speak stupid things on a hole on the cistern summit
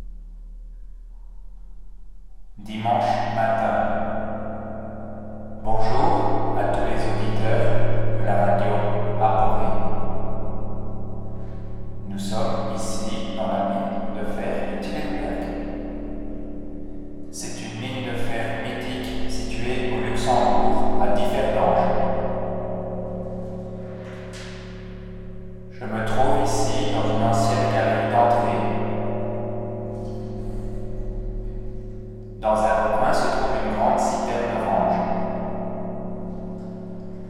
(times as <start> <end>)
2.6 4.0, 5.7 9.8, 12.0 15.4, 17.4 22.0, 25.8 28.7, 32.4 35.0